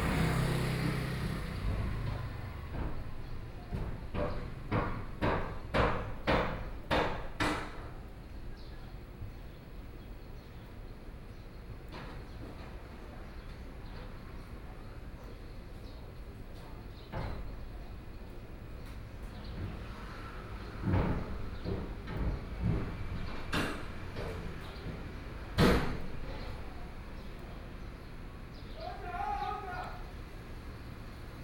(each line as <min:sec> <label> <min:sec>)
0:00.0 Truck unloading 0:05.2
0:00.0 Traffic Sound 0:31.4